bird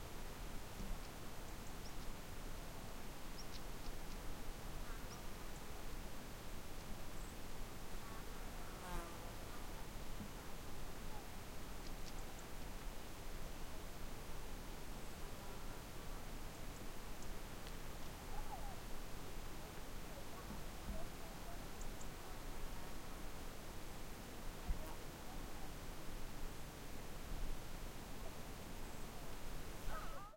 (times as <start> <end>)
3.4 4.2, 18.2 18.8, 28.8 30.3